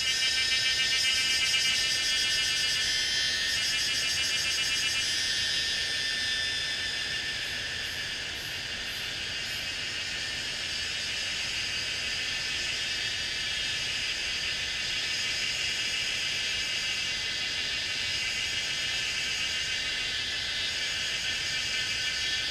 0.0s Cicada sounds 22.5s

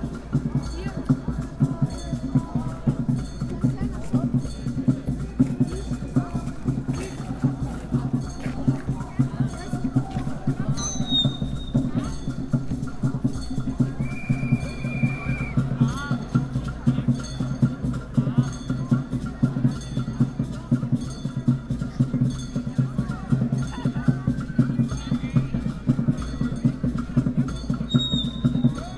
0.0s antifaschistische kundgebung 28.9s

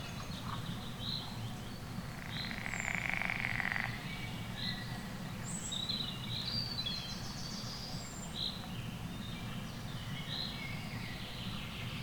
2.0s frogs 4.2s

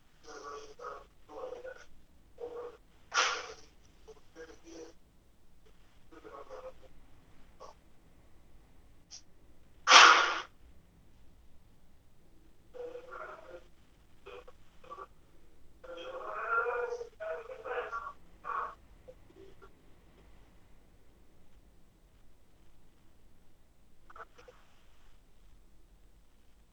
0.0s phone call 5.0s
0.0s distorted conversations 26.6s
5.6s phone call 7.8s
12.6s phone call 21.7s
24.0s phone call 25.2s

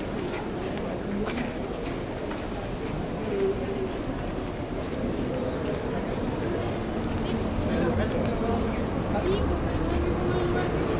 0.0s people walk fast 10.9s
0.0s trains 10.9s

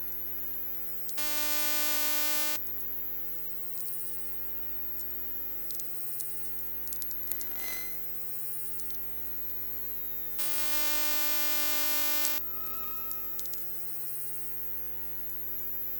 10.4s elctromagnetic traffic 13.5s

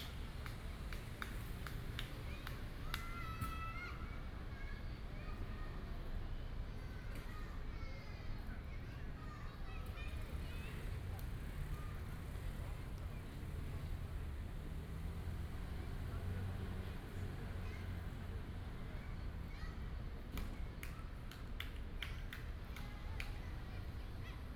0.0s Child 13.9s
15.6s Child 24.5s

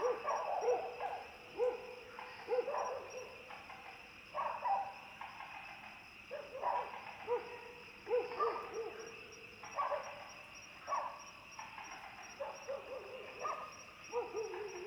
0.0s Frogs chirping 14.8s
0.0s insects 14.8s
2.5s Dogs barking 3.2s
6.3s Dogs barking 9.0s
12.4s Dogs barking 14.8s

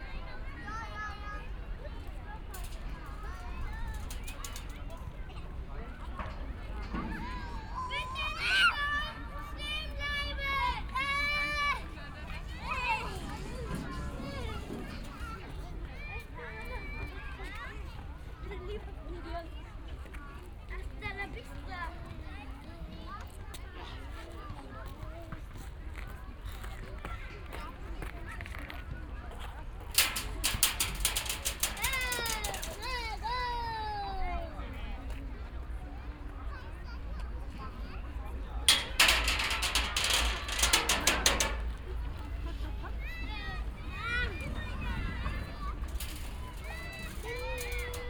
10.6s children on slide 15.9s

